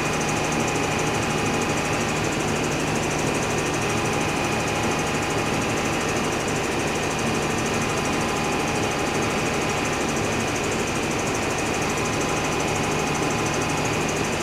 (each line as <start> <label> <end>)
0.0 big noisy engine is turning 14.4